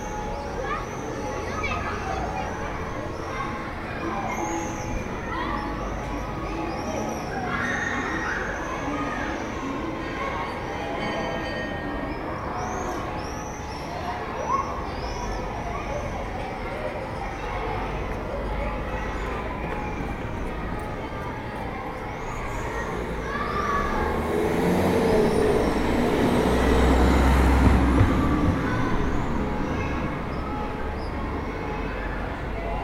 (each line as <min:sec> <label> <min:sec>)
0:00.0 les cloches de Notre Dame sonnent 0:32.8
0:17.2 martinets crient dans le ciel 0:32.8
0:17.8 voitures de passage 0:32.8